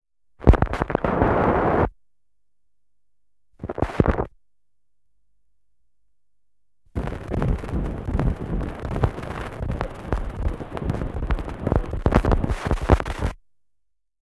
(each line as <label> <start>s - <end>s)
needle rasping on vinyl 7.0s - 13.3s